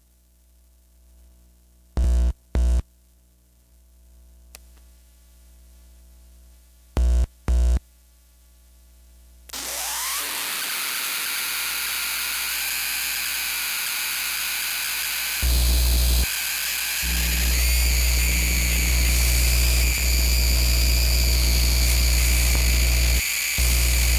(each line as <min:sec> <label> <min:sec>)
0:00.0 60 hertz hum 0:09.6
0:09.5 Noise from a Broken Walkman 0:24.1
0:17.1 60 hertz hum 0:24.1